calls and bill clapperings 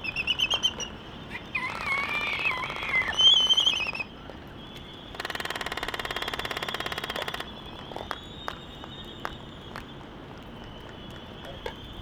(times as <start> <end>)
5.1 8.6